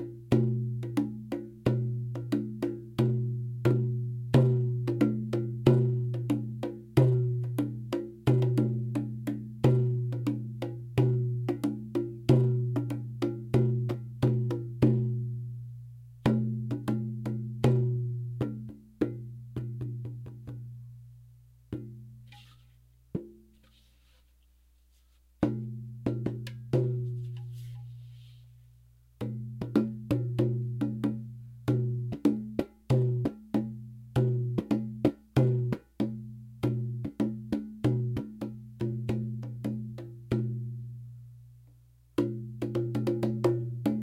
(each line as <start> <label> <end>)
0.0 tabla 15.4
29.2 tabla 40.6
42.2 tabla 44.0